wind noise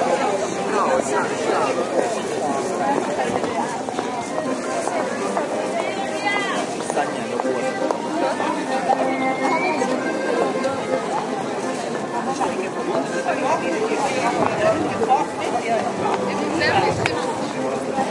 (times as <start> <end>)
16.5 17.5